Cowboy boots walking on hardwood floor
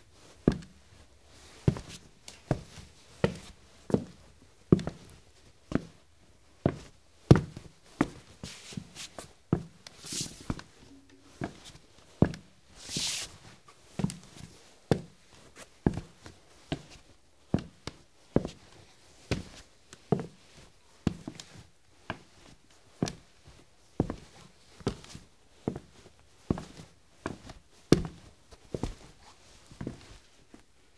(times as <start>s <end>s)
1.6s 6.0s, 6.6s 13.1s, 24.0s 30.6s